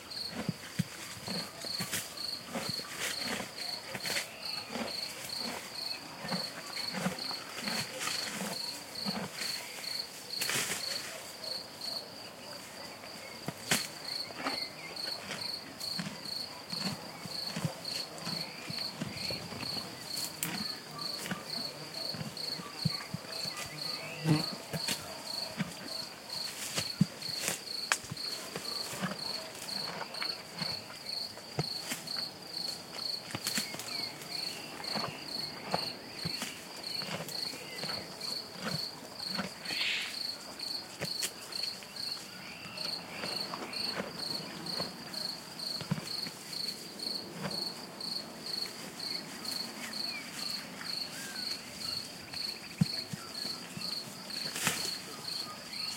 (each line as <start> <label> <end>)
0.0 Crickets 55.9
0.0 noises an old horse made while he grazed 55.9
39.6 birds 45.0